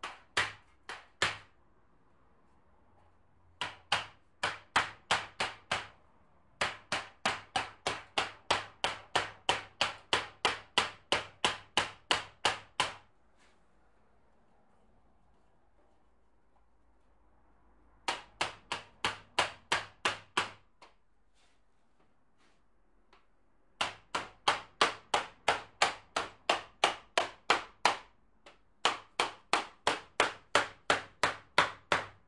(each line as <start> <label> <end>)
3.6 hammer knocking on metal 6.0
6.6 hammer knocking on metal 13.1
18.0 hammer knocking on metal 20.7
28.8 hammer knocking on metal 32.2